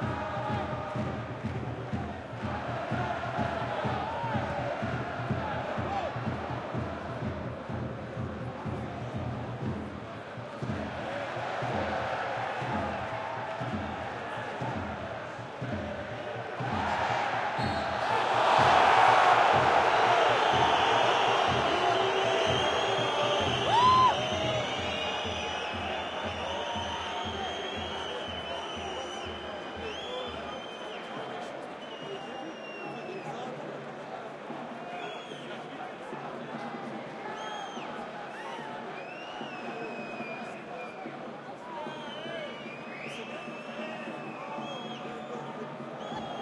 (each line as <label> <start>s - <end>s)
supporters singing 0.0s - 33.2s
cheers 10.6s - 33.8s
cheers 34.5s - 46.4s